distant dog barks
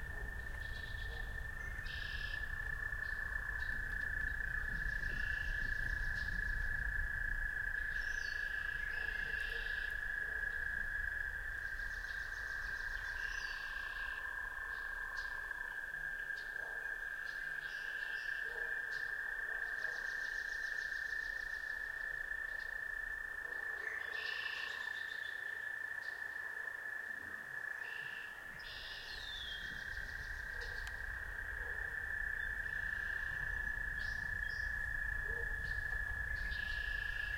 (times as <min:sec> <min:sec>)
0:00.0 0:01.5, 0:08.9 0:10.6, 0:16.5 0:17.0, 0:18.4 0:20.2, 0:23.4 0:24.3, 0:30.4 0:32.1, 0:35.2 0:35.7